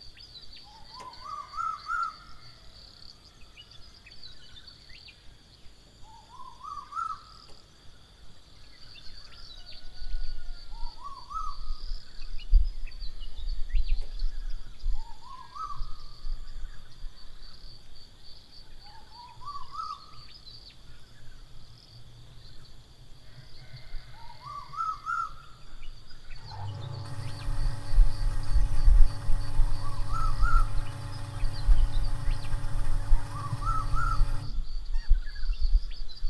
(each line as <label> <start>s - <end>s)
water pump 26.4s - 34.7s